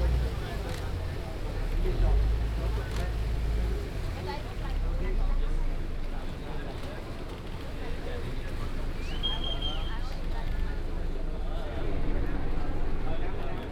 0.0s people 13.7s
9.0s occasional whistling 10.1s

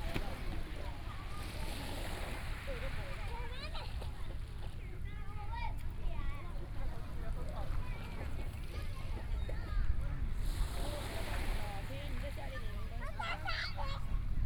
0.0s waves 14.4s

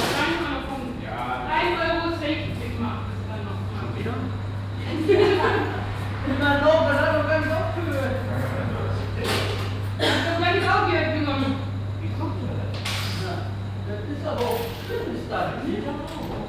0.0s voices of the shop assistants and the customer 16.4s

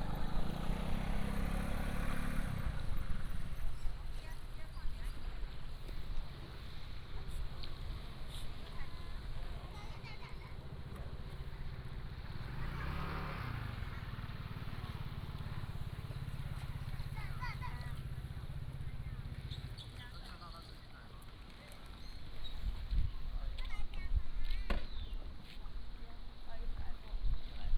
24.8s Birds singing 25.3s

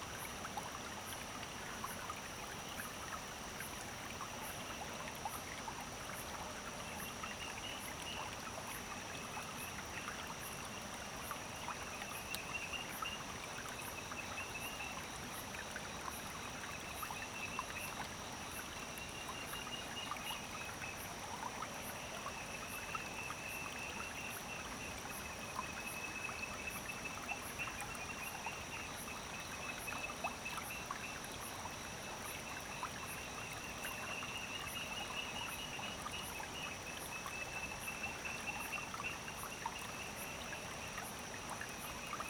0.0s Frogs 42.2s

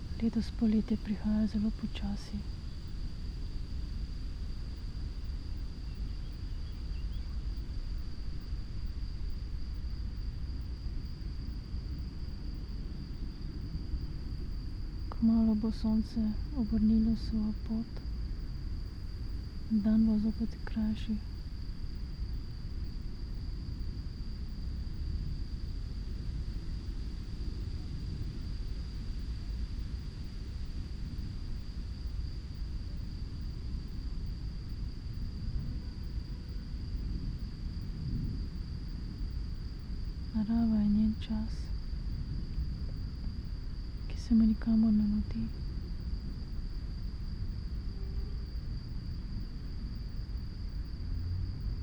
0.0s crickets 51.8s
0.0s wind 51.8s
0.2s spoken words 2.5s
15.1s spoken words 18.0s
19.7s spoken words 21.2s
40.4s spoken words 41.6s
44.1s spoken words 45.5s

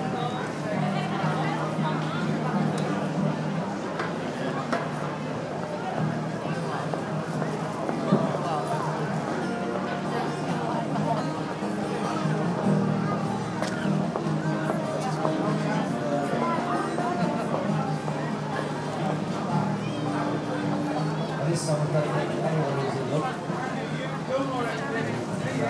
0.0s guitar 25.6s
0.0s people 25.6s

